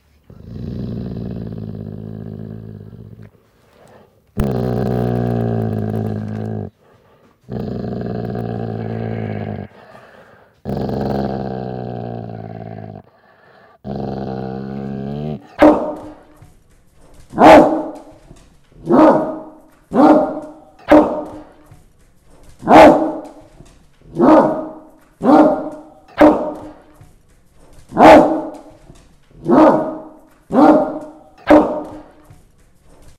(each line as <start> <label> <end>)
15.4 Pitt Bull Dog Bark 16.2
17.3 Pitt Bull Dog Bark 18.2
18.8 Pitt Bull Dog Bark 21.6
22.6 Pitt Bull Dog Bark 23.4
24.1 Pitt Bull Dog Bark 26.9
27.9 Pitt Bull Dog Bark 28.8
29.4 Pitt Bull Dog Bark 32.3